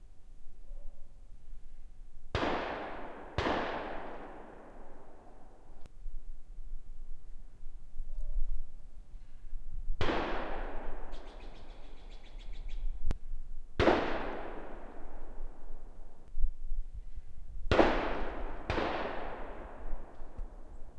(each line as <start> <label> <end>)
2.3 gunshots from far away 5.8
10.0 gunshots from far away 12.0
13.8 gunshots from far away 16.0
17.7 gunshots from far away 20.8